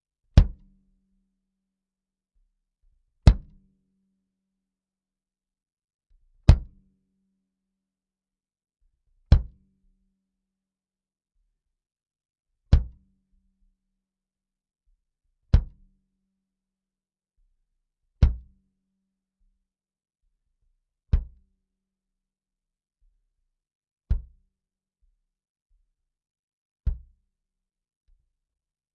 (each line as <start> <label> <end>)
0.4 Bass Drum 0.6
3.3 Bass Drum 3.6